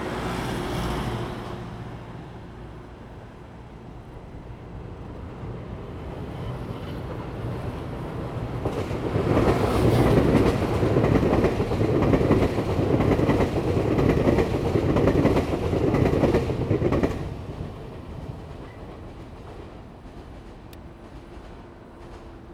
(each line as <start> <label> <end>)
0.0 the train passes by 22.5
6.1 Traffic sound 22.5